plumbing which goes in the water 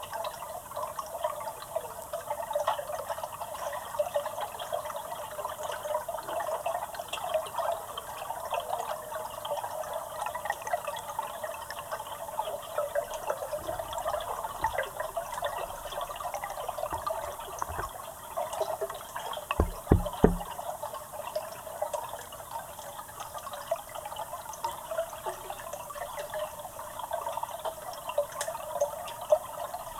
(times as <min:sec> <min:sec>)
0:12.8 0:18.1, 0:19.6 0:20.6